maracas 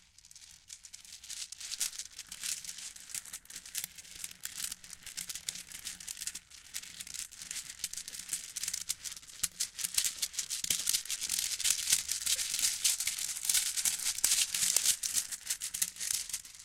10.2s 16.6s

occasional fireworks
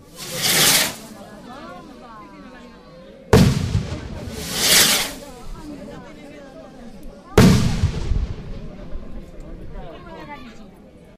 0.0s 1.1s, 3.4s 5.7s, 7.4s 8.9s

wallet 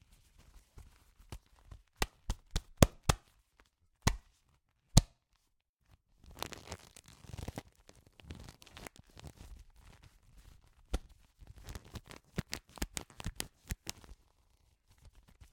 1.2s 3.3s

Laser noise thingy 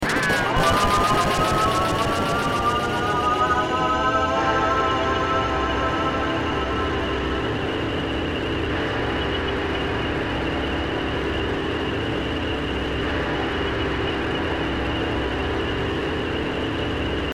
0.0s 8.0s

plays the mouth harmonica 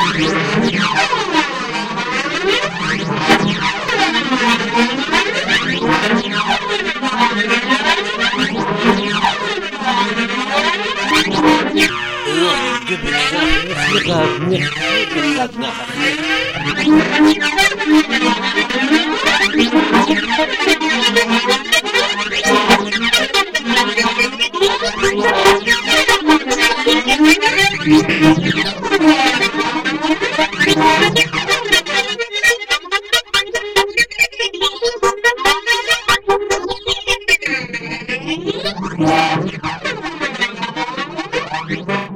11.8s 16.8s

